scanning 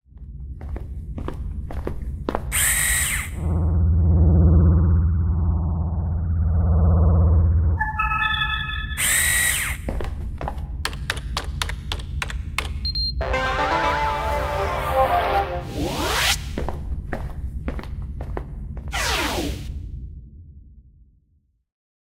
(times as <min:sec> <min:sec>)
0:02.6 0:09.9